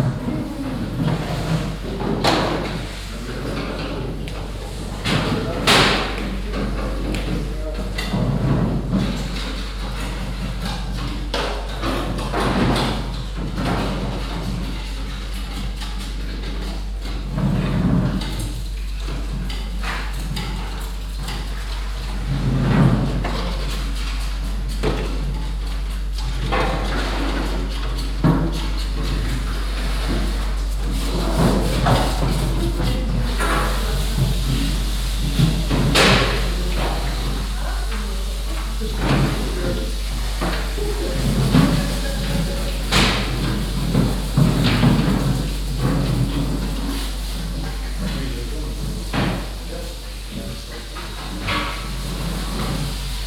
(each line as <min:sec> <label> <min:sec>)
0:00.0 people washing vegetables 0:53.2
0:00.1 cleaning transport boxes 0:53.2